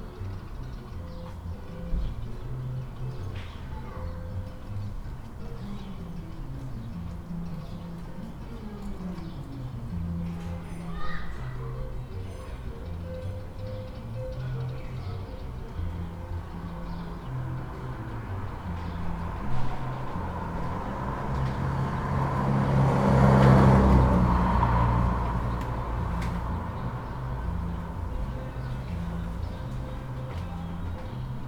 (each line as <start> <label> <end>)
0.0 playing music down the street with a peculiar reverberation 31.4
0.1 cars 31.4
15.5 motorcycles 31.4